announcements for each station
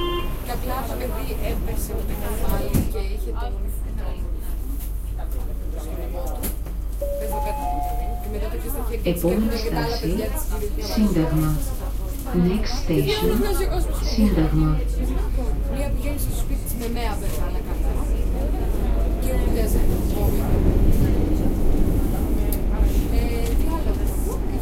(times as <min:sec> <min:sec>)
0:00.0 0:02.6, 0:06.8 0:15.6